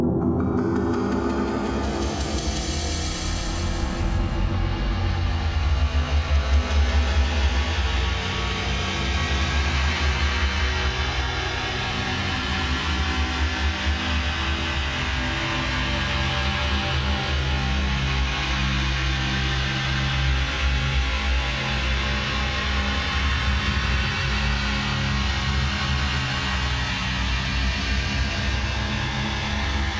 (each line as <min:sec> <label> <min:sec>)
0:00.0 drone 0:08.8
0:00.6 shimmer 0:04.8